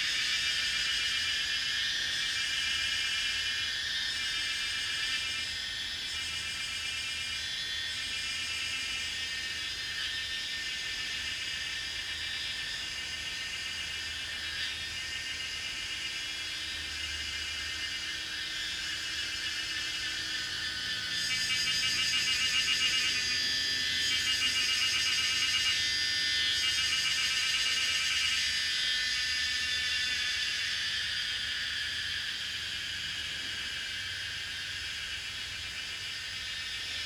Cicada sounds 0.0 - 37.0

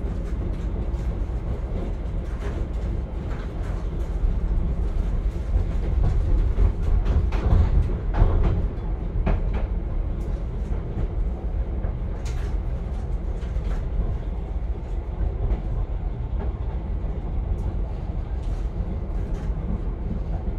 Narrow Gage Train 0.0 - 20.5

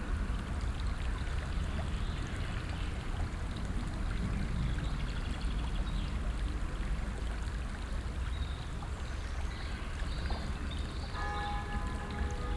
bells 11.2 - 12.5

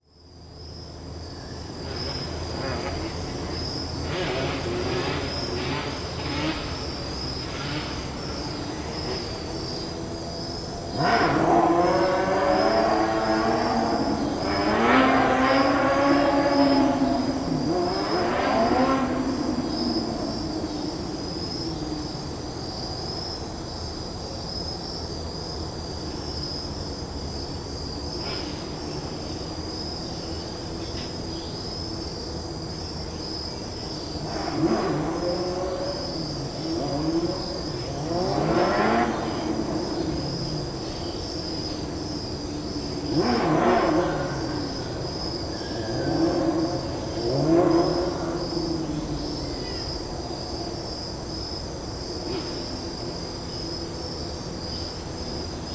auto racing in a parking lot 0.0 - 55.7

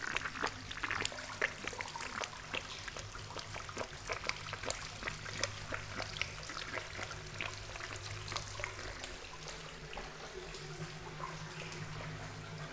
tube makes strange sounds with water flowing 0.0 - 12.7

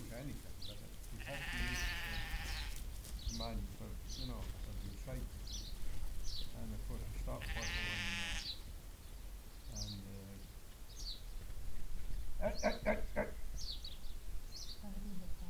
enthusiastic sheepdogs herding the sheep 0.0 - 14.8
low thunder of a lot of hooves moving in Unison 0.0 - 15.4
wind 0.0 - 15.4
chatting 6.5 - 8.4
chatting 12.4 - 13.4

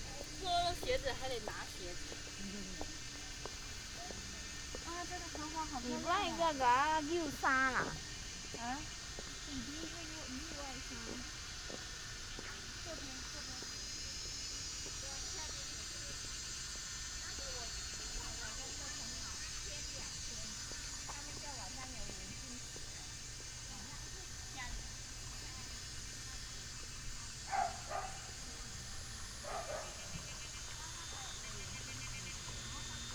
Cicadas sound 0.0 - 33.1
Dogs barking 27.4 - 28.4
Dogs barking 29.4 - 30.5

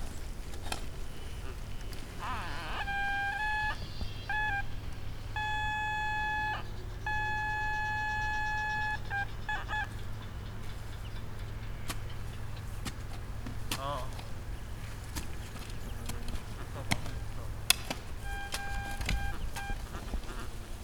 guys operating metal detectors 1.3 - 20.8
one talking on the phone 2.2 - 4.7
one talking on the phone 13.7 - 14.4
one talking on the phone 15.9 - 20.6

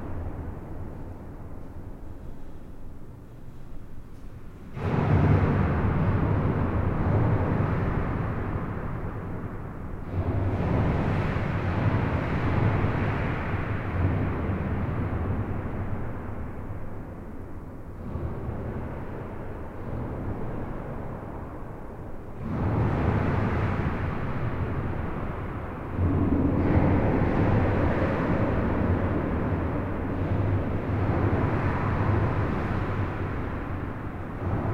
infrasound strong waves 20.1 - 34.7

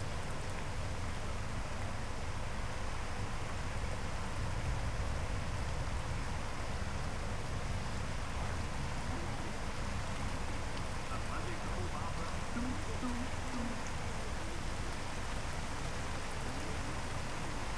Heavy rain 6.6 - 17.7

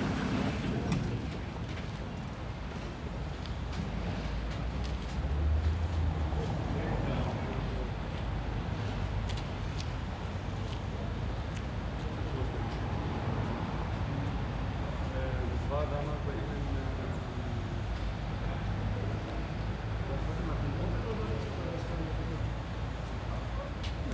passers-by 0.0 - 24.1

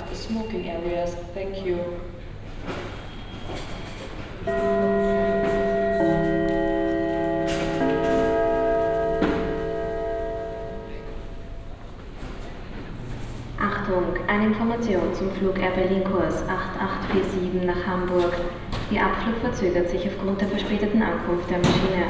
announcements 4.4 - 22.0

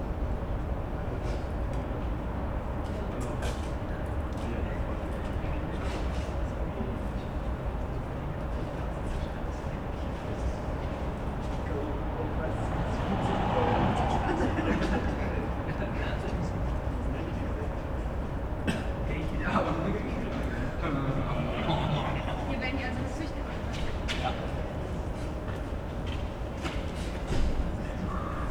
city hum 0.0 - 28.5
people waiting 10.6 - 24.0

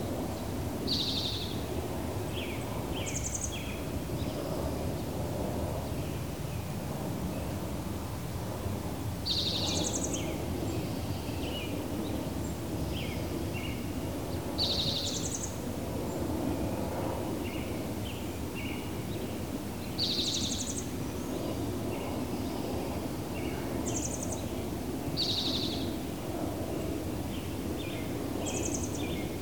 Airplanes (jet and prop) 0.0 - 29.4

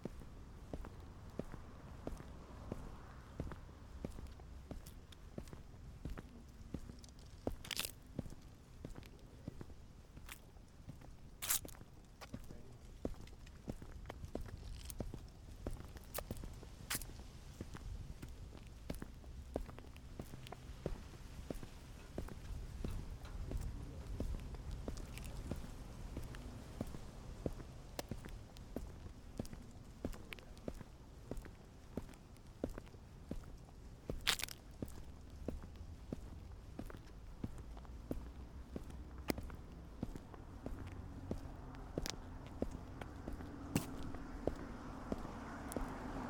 Dry leaves 6.7 - 8.0
Dry leaves 11.4 - 23.2
Dry leaves 34.2 - 35.1

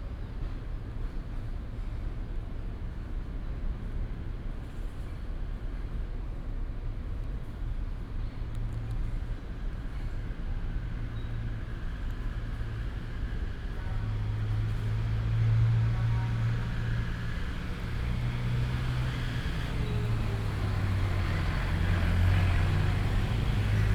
traffic sound 8.5 - 23.9

